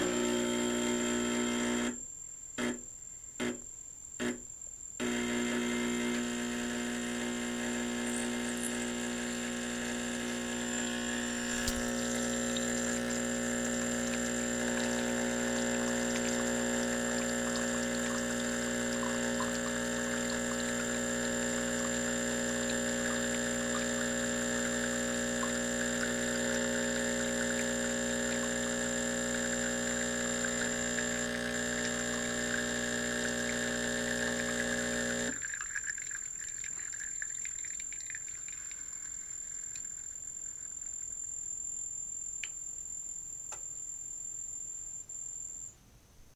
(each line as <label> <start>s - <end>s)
Espresso Machine making a cup of espresso 0.0s - 2.0s
Espresso Machine making a cup of espresso 5.0s - 41.0s